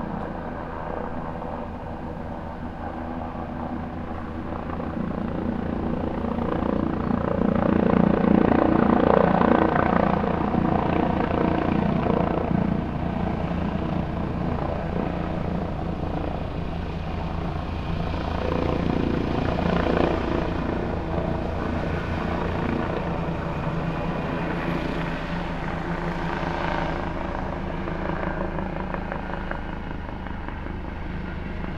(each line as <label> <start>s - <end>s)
Helicopter Flyby, Distant 0.0s - 31.7s